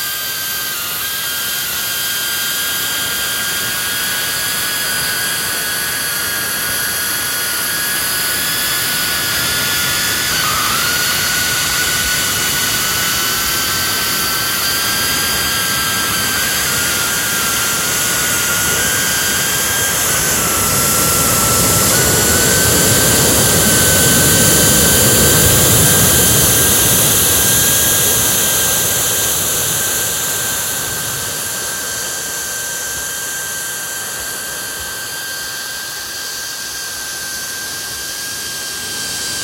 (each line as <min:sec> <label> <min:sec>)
0:00.0 pressure cooker 0:29.8